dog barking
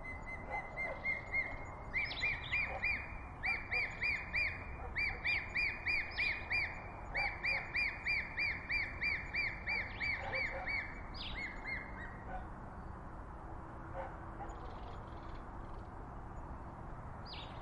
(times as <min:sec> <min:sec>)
0:00.4 0:01.6, 0:02.6 0:03.9, 0:09.7 0:10.8, 0:12.3 0:12.5, 0:13.9 0:14.7